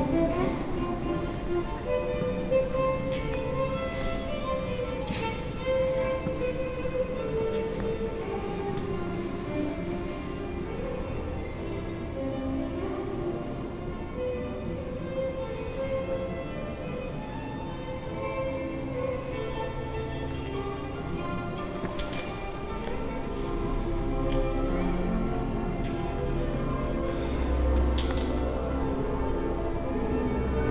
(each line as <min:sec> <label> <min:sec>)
0:00.0 Street Violin player 0:30.7